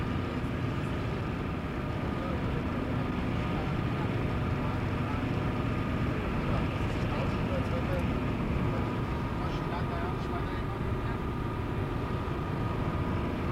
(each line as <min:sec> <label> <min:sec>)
0:00.0 car driving on german highway 0:13.5